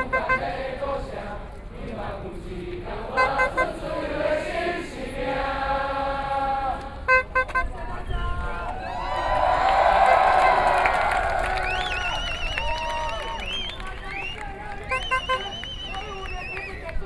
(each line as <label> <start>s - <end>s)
Everyone singing protest songs 0.0s - 10.8s
Shouting slogans 0.0s - 17.0s
Thousand Protesters gather 0.0s - 17.0s